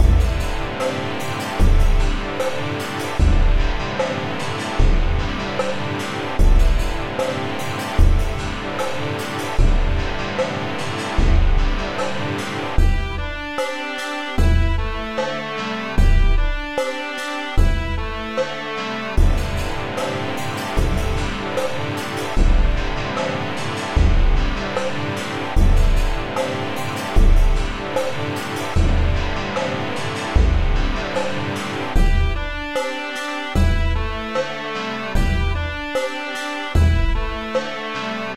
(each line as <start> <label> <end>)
0.0 bass 13.7
0.0 drums 38.3
14.4 bass 16.9
17.5 bass 36.1
36.7 bass 38.3